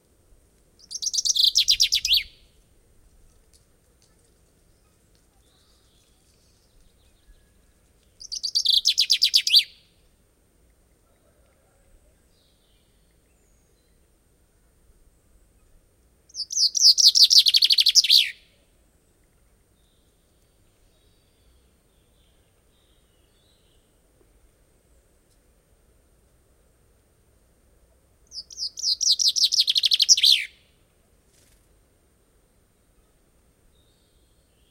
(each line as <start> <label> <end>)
0.8 Chaffinch singing 2.6
4.7 Chaffinch singing 10.0
15.6 Chaffinch singing 18.5
28.2 Chaffinch singing 30.7